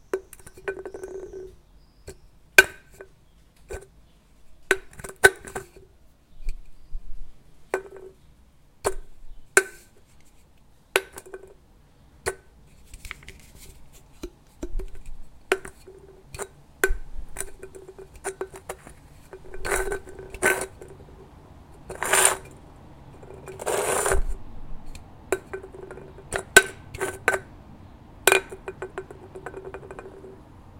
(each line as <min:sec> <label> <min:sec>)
0:17.4 Tin Can playing 0:21.2
0:17.4 tin-can rolling 0:21.2
0:21.8 Tin Can playing 0:24.4
0:21.8 tin-can rolling 0:24.4
0:21.9 tin-can fall 0:22.5
0:25.3 tin-can rolling 0:27.5
0:28.3 Tin Can playing 0:30.4
0:28.3 tin-can rolling 0:30.4